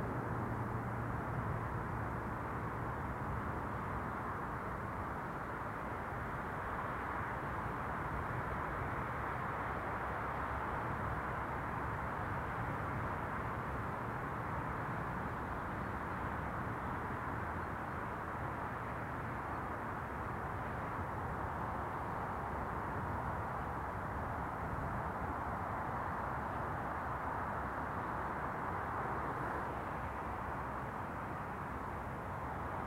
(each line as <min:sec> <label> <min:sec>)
0:00.0 wind 0:32.8
0:10.5 a lark sings beneath the wind 0:29.8